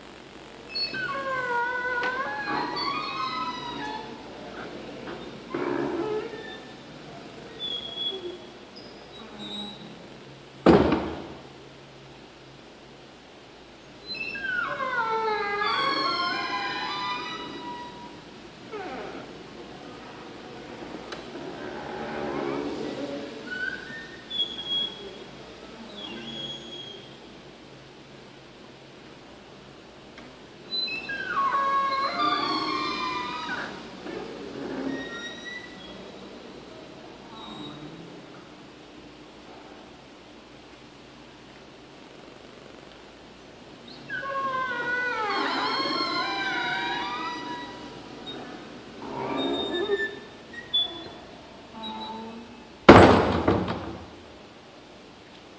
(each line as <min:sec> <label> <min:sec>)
0:00.7 squeaks from an old, large wooden door 0:10.0
0:10.6 slam 0:11.4
0:14.0 squeaks from an old, large wooden door 0:19.4
0:21.3 squeaks from an old, large wooden door 0:25.2
0:25.9 squeaks from an old, large wooden door 0:27.3
0:30.7 squeaks from an old, large wooden door 0:36.4
0:37.2 squeaks from an old, large wooden door 0:38.1
0:43.8 squeaks from an old, large wooden door 0:54.1
0:52.9 slam 0:54.1